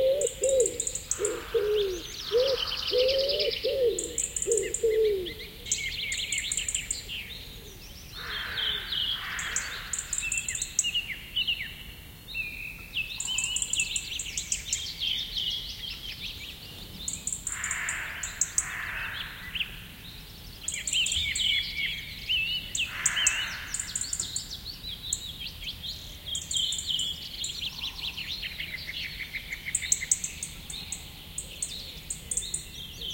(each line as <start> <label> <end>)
0.0 wood pigeon hooting 5.7
0.0 other birds in the bg 11.7
13.1 other birds in the bg 33.1